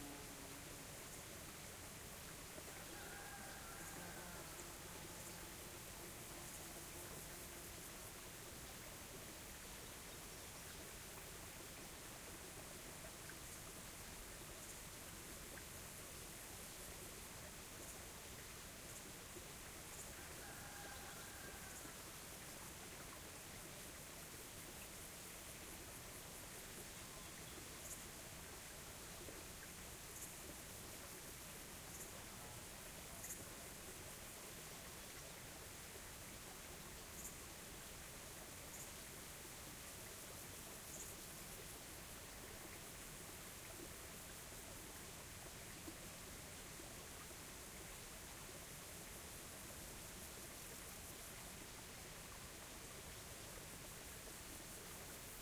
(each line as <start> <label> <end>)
0.0 small stream 55.4
2.7 rooster 5.2
2.9 cicadas close 8.0
19.9 cicadas close 22.5
20.1 rooster 22.0
25.0 cicadas close 34.4
36.9 cicadas close 37.7
38.4 cicadas close 39.2
40.0 cicadas close 44.8